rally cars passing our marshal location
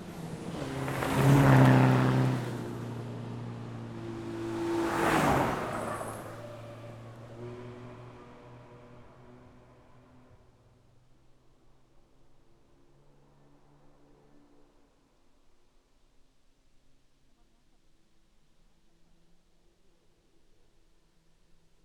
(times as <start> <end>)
0.0 10.6